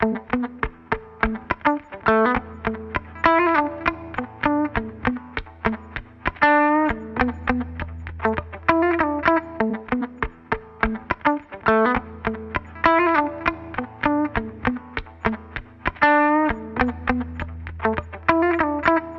0.0s rhythm guitar 19.1s

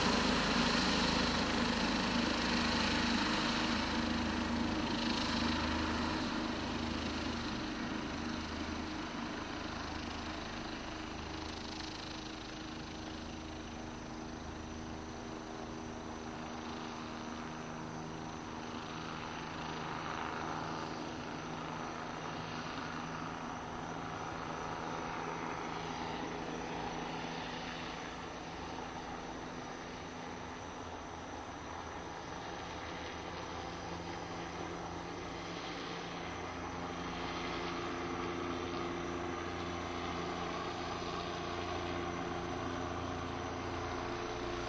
0.0s Police helicopter 44.6s

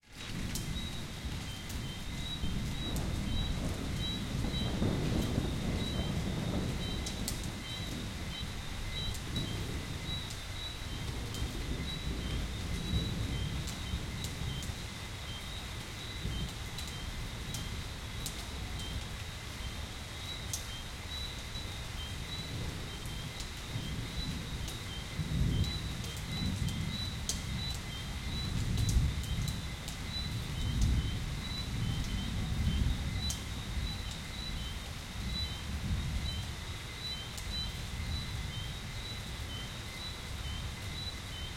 0.0s rain 41.5s
0.2s crickets 41.5s
0.8s frogs 41.5s
2.2s thunder 10.2s

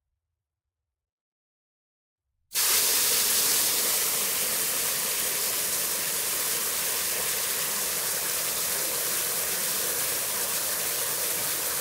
2.6s water spray in plastic bucket 11.8s

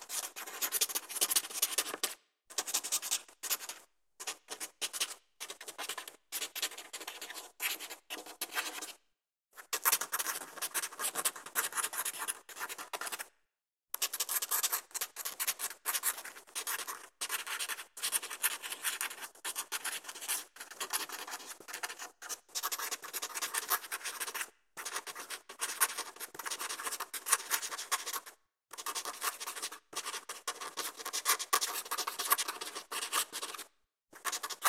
0.0s guill writing on paper 8.9s
18.2s guill writing on paper 34.6s

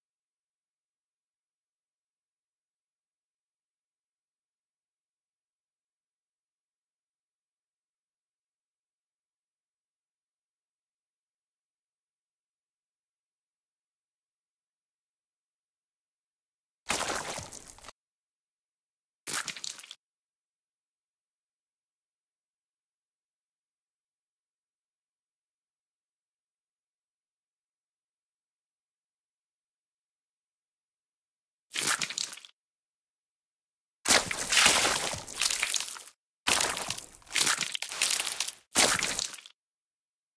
16.9s splat 17.9s
16.9s squish 17.9s
19.3s squish 20.0s
31.8s squish 32.5s
34.1s smash 39.4s
34.1s splat 39.5s
34.1s squish 39.5s

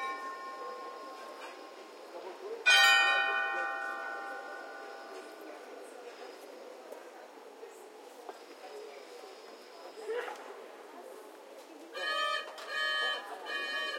2.6s Astronomical clock 5.4s

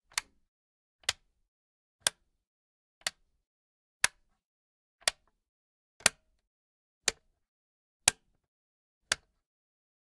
0.0s wall socket switch being turned on and off 0.4s
1.0s wall socket switch being turned on and off 1.3s
2.0s wall socket switch being turned on and off 2.3s
4.0s wall socket switch being turned on and off 4.3s
5.0s wall socket switch being turned on and off 5.4s
6.0s wall socket switch being turned on and off 6.4s
7.1s wall socket switch being turned on and off 7.3s
8.0s wall socket switch being turned on and off 8.4s
9.0s wall socket switch being turned on and off 9.4s

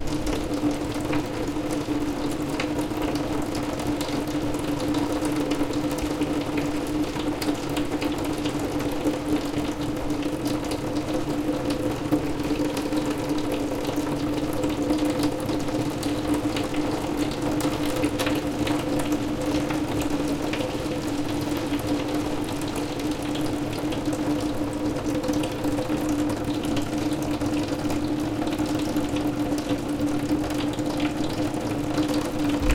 0.0s Continuous raindrops on glass window 32.7s

